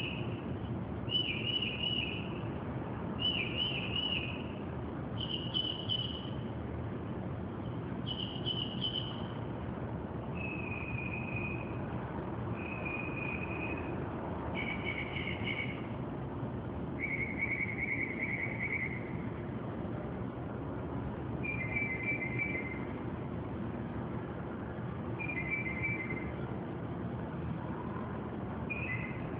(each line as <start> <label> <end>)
0.0 bird singing and chirping verious car alarm sounding songs 0.4
0.0 street noises 29.3
1.1 bird singing and chirping verious car alarm sounding songs 2.4
3.2 bird singing and chirping verious car alarm sounding songs 4.5
5.2 bird singing and chirping verious car alarm sounding songs 6.4
8.0 bird singing and chirping verious car alarm sounding songs 9.4
10.3 bird singing and chirping verious car alarm sounding songs 11.8
12.6 bird singing and chirping verious car alarm sounding songs 13.9
14.5 bird singing and chirping verious car alarm sounding songs 15.8
17.0 bird singing and chirping verious car alarm sounding songs 19.2
21.4 bird singing and chirping verious car alarm sounding songs 22.9
25.2 bird singing and chirping verious car alarm sounding songs 26.4
28.6 bird singing and chirping verious car alarm sounding songs 29.3